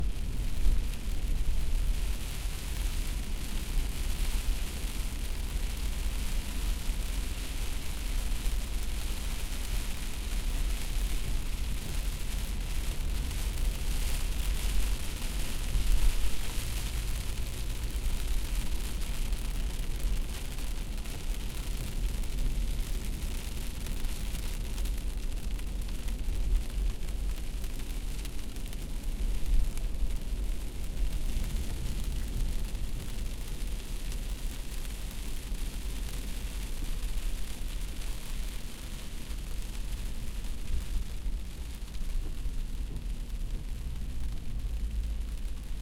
Drops of rain on a glass windshield 0.0 - 45.8

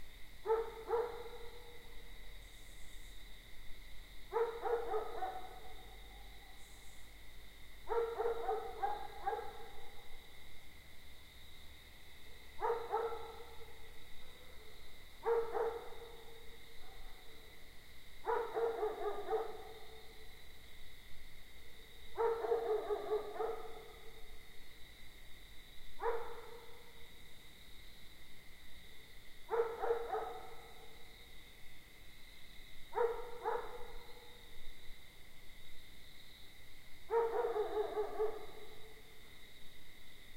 crickets 0.0 - 40.3
bark of the dog next door 0.4 - 1.9
more distant dog 0.4 - 2.0
bark of the dog next door 4.3 - 6.4
more distant dog 4.3 - 6.7
bark of the dog next door 7.9 - 10.0
more distant dog 7.9 - 10.1
bark of the dog next door 12.6 - 17.4
more distant dog 12.6 - 17.6
bark of the dog next door 18.2 - 20.2
more distant dog 18.2 - 20.3
bark of the dog next door 22.1 - 24.3
more distant dog 22.2 - 24.3
bark of the dog next door 26.0 - 27.1
more distant dog 26.0 - 27.1
bark of the dog next door 29.5 - 31.1
more distant dog 29.5 - 31.1
bark of the dog next door 32.9 - 34.4
more distant dog 32.9 - 34.5
bark of the dog next door 37.1 - 39.0
more distant dog 37.1 - 39.2

